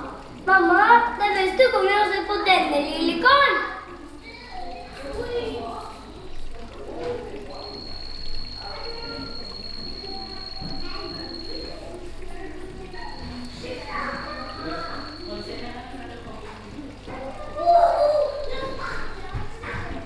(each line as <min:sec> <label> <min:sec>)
0:00.0 children 0:20.0
0:00.0 water 0:20.0
0:04.7 reptiles 0:20.0